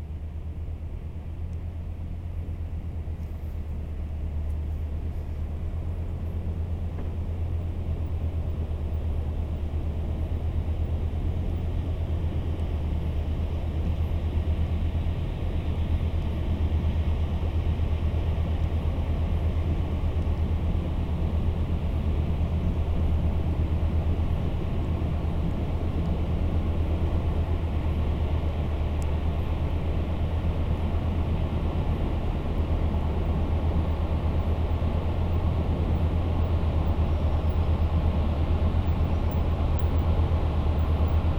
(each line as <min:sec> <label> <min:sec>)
0:00.0 big industrial boat is passing by 0:41.3